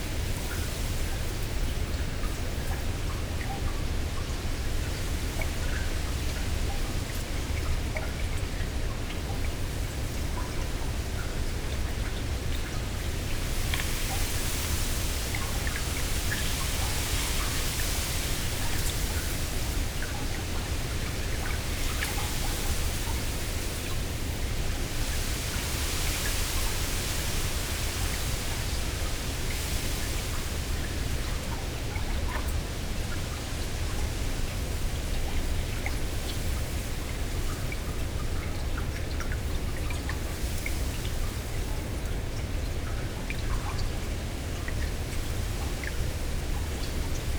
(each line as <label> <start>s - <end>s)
Strong wind in reeds above and below water 9.7s - 47.3s